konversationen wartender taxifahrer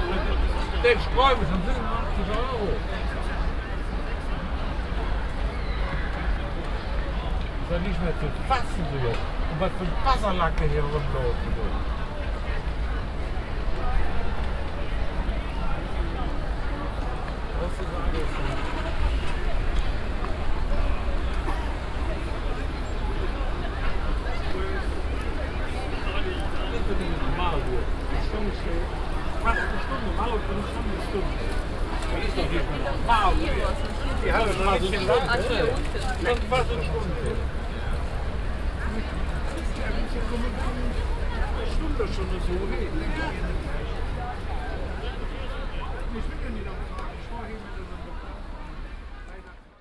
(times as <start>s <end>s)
0.0s 3.3s, 7.4s 11.9s, 24.2s 48.3s